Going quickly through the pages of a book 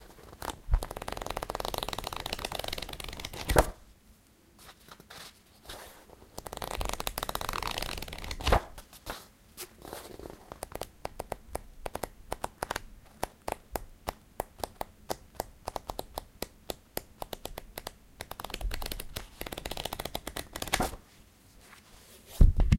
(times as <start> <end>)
4.6 10.9, 18.4 21.0